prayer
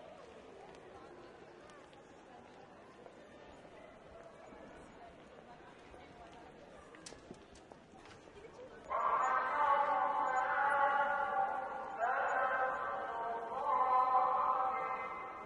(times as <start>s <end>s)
8.8s 15.4s